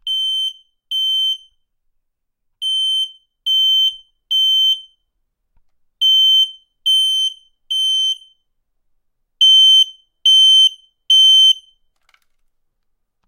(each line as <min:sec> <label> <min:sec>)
0:00.0 Smoke alarm test 0:01.6
0:02.6 Smoke alarm test 0:05.1
0:06.0 Smoke alarm test 0:08.5
0:09.4 Smoke alarm test 0:11.8